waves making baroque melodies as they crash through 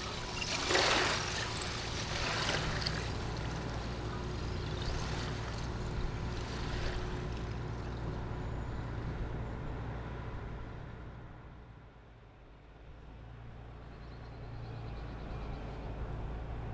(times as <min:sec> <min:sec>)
0:00.0 0:06.3